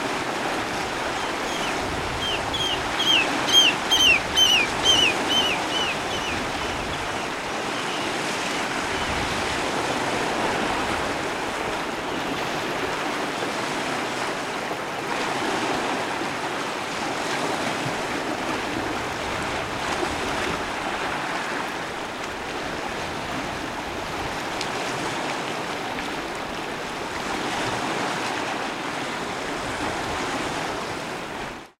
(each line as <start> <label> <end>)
0.0 sea 31.7
1.0 Oystercatchers 8.2
1.0 Terns 8.2